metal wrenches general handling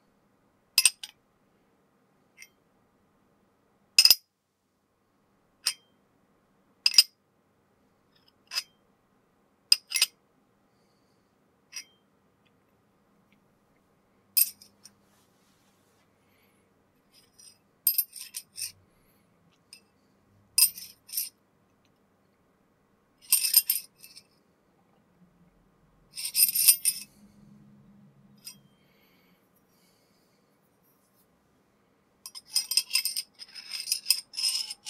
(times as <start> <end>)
17.2 18.7, 26.2 27.1, 32.3 34.8